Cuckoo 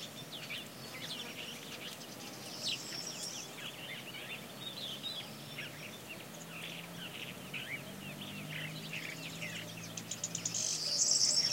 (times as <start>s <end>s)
9.5s 11.5s